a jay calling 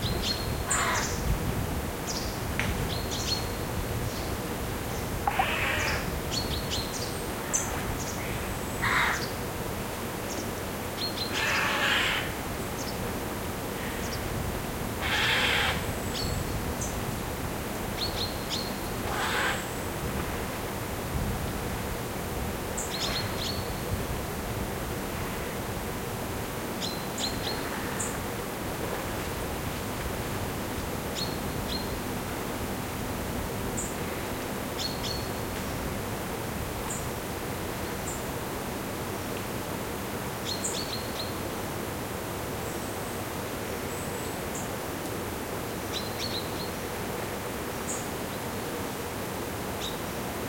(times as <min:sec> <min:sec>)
0:00.2 0:01.2, 0:05.2 0:06.4, 0:07.5 0:09.3, 0:11.2 0:12.4, 0:15.0 0:16.3, 0:18.6 0:19.8